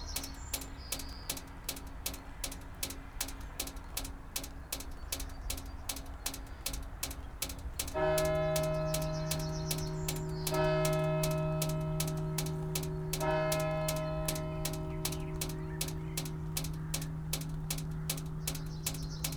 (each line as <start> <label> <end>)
0.0 distant cars 19.3
0.0 drops in a drain 19.3
8.0 church bells 19.3